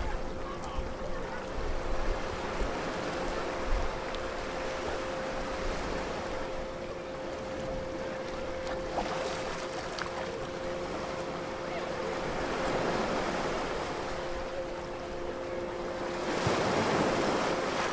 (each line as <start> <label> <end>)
0.0 occasional boat in the background 17.9
0.0 surf 17.9